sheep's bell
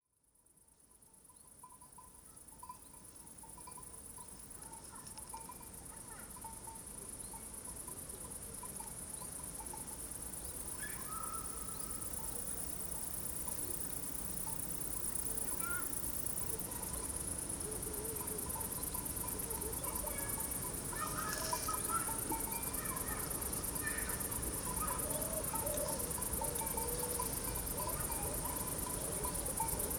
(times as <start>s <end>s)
1.3s 10.4s, 18.4s 25.2s, 25.8s 29.9s